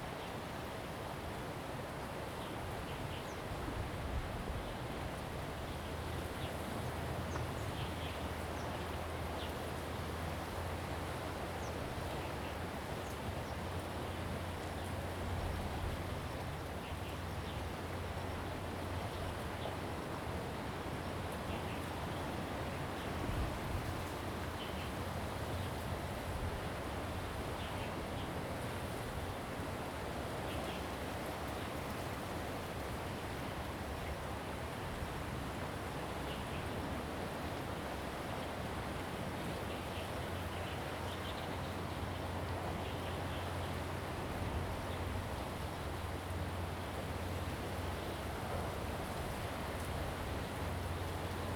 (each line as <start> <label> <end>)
0.0 waves 51.5